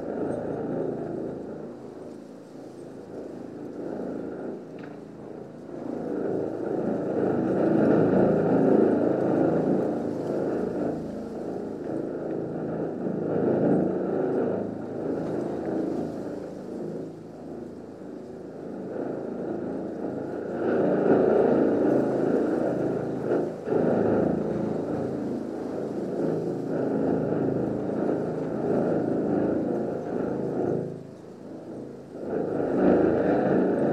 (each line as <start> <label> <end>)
0.0 wind in a tube 33.9